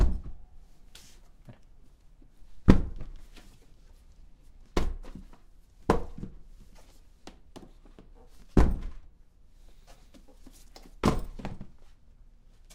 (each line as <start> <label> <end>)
10.8 Things falling on the floor 11.7